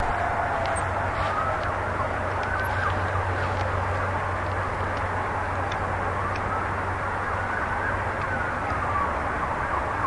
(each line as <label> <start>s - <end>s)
siren 0.0s - 10.0s